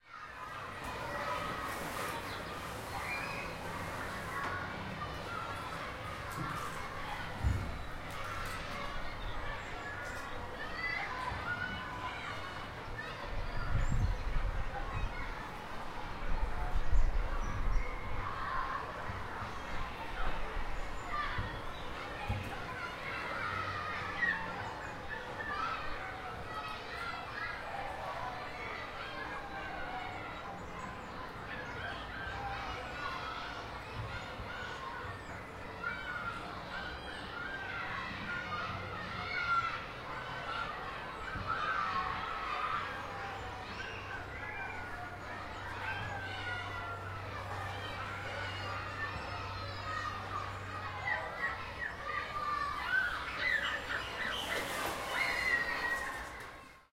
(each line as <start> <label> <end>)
0.0 children playing 56.9
40.5 bird ambience 56.7